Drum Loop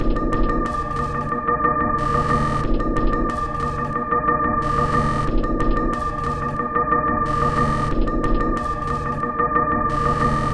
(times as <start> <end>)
0.0 1.4, 2.0 4.0, 4.6 6.6, 7.3 9.3